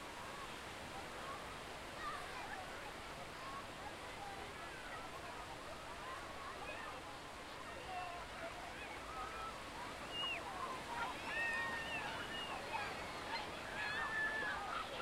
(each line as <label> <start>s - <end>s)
people playing in the sea 0.0s - 15.0s
surf sounds 0.0s - 15.0s